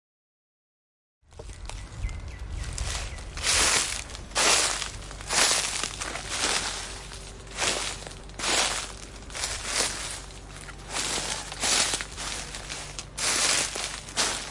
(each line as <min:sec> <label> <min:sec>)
0:01.3 Foot steps on dry leaves 0:14.5